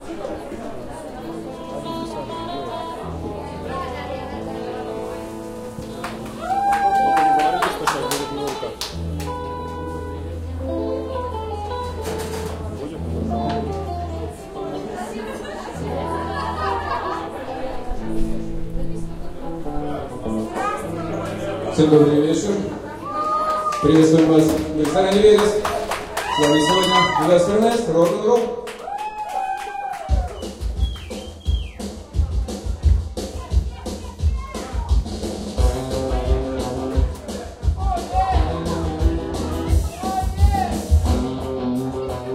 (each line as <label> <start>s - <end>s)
Guitar plays 0.0s - 27.9s
People drink and chatting 0.0s - 42.3s
vocalist presents the group 23.8s - 28.6s
Guitar plays 30.2s - 42.3s